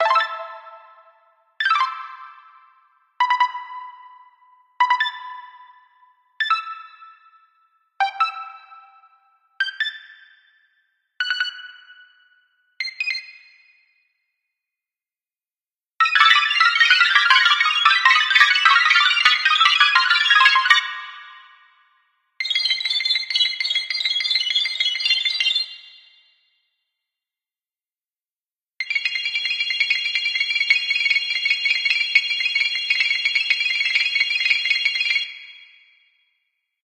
synthesised bleeps and beeps 0.0 - 2.2
synthesised bleeps and beeps 3.2 - 7.2
synthesised bleeps and beeps 8.0 - 10.1

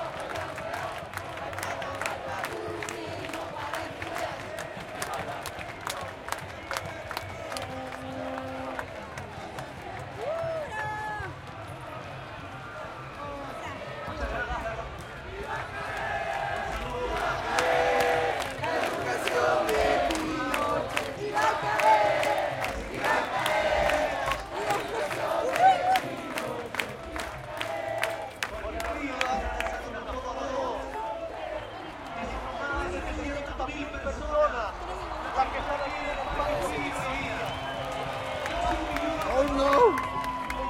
crowd 0.0 - 40.6

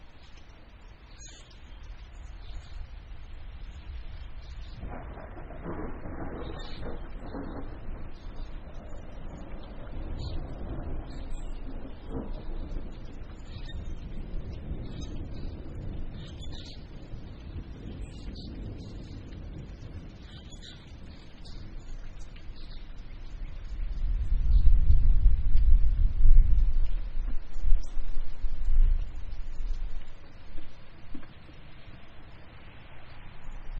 evening birds 0.1 - 25.1
Medium distant thunder 2.2 - 33.7

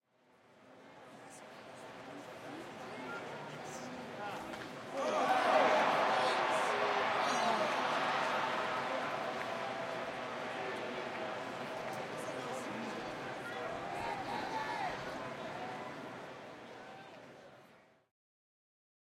cheering 4.9 - 17.5
applause 5.0 - 13.5

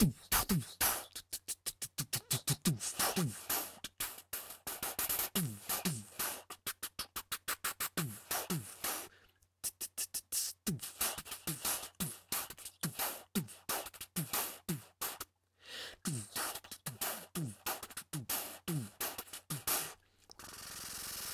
beatbox 0.0 - 21.3

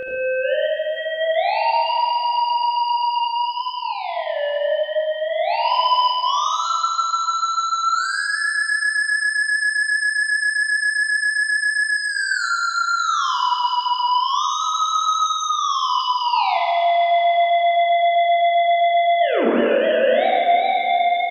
theremin 0.0 - 21.3

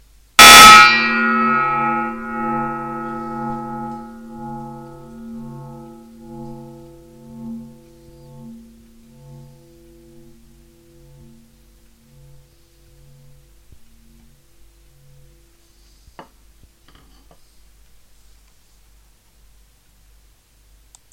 melody 0.4 - 14.9

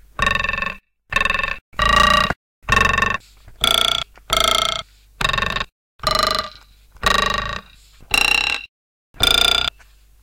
screwdriver a music instrument 0.1 - 9.7

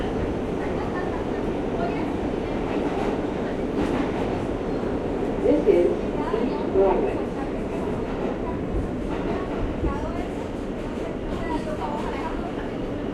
Subway station announcement 0.0 - 13.1

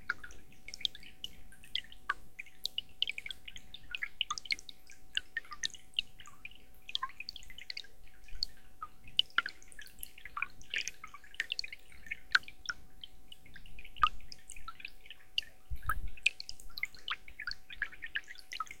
small stream 0.0 - 18.8

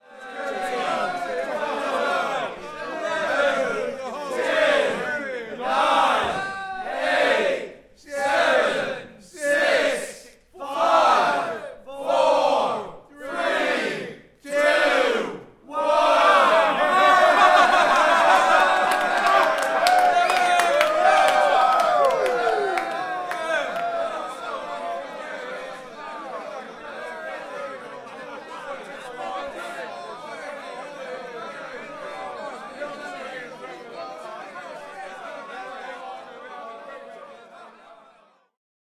cheer 0.0 - 14.0
cheer 14.6 - 38.6

